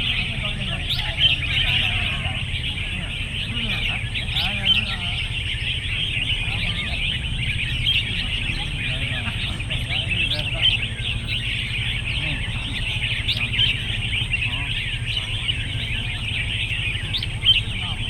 Bird Singing Contest 0.0 - 18.0

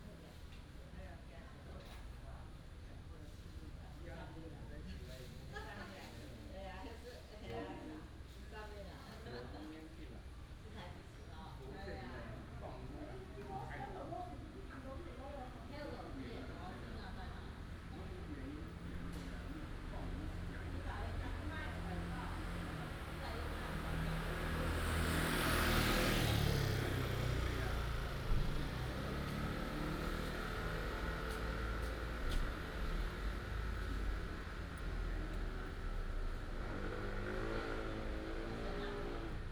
traffic sound 17.0 - 39.5

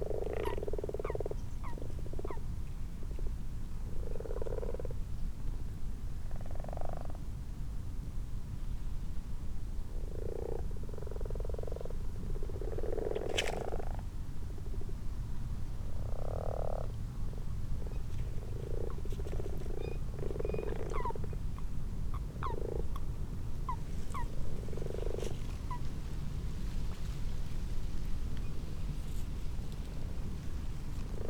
common frogs and common toads in a pond 0.0 - 5.3
common frogs and common toads in a pond 6.1 - 7.4
common frogs and common toads in a pond 9.6 - 26.3
common frogs and common toads in a pond 30.6 - 31.2

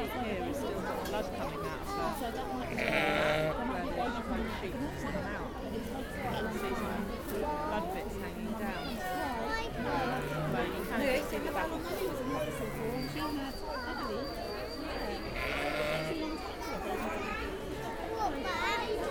conversations around me with parents explaining 0.0 - 19.1
tiny bleatings of a just-born sheep 15.4 - 16.2

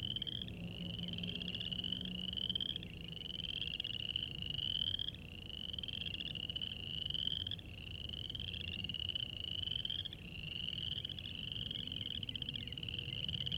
traffic 0.0 - 5.3
Spring peepers (chorus frogs) 0.0 - 13.5

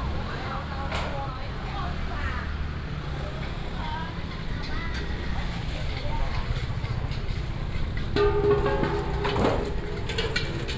vendors peddling 2.7 - 10.7

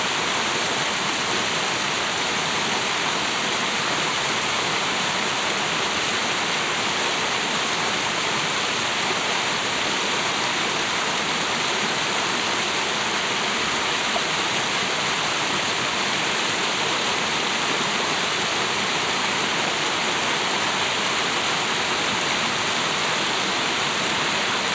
small water fall coming down the rocks 0.0 - 24.7

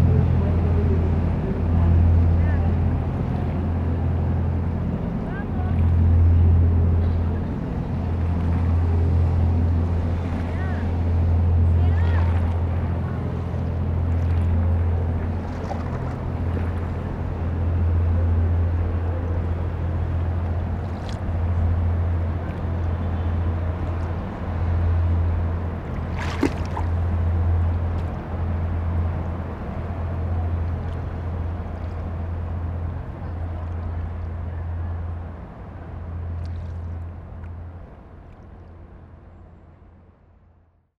tourists boat is passing by 0.0 - 40.9

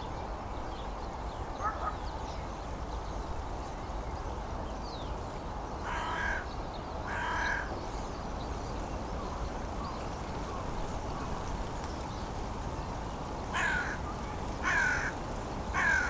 dry leaves rattling 10.3 - 16.0

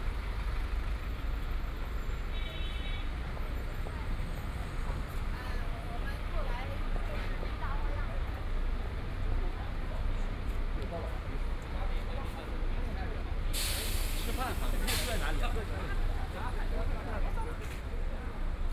Traffic Sound 0.0 - 18.7

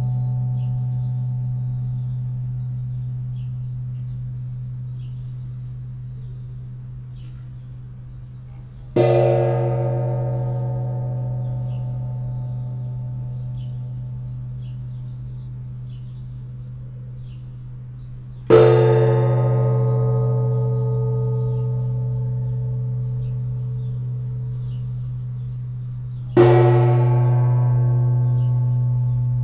wasser gong 0.0 - 29.4

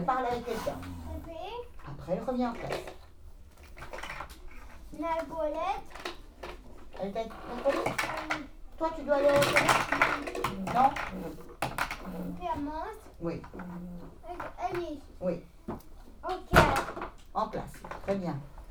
Children 0.2 - 1.9
Children 4.2 - 6.6
Children 7.4 - 13.2
Children 13.9 - 17.2

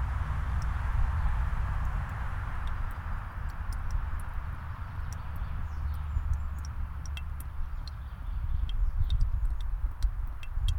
Birch sap drips into the bottle 1.8 - 10.7
birds sing 2.8 - 10.7

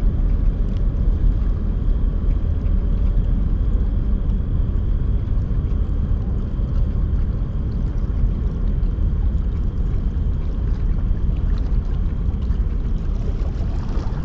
cargo ships passing 12.9 - 14.2

